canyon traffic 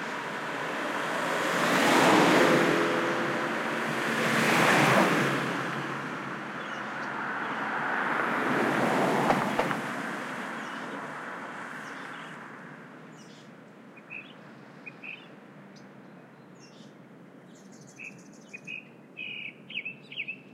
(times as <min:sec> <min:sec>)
0:00.0 0:16.1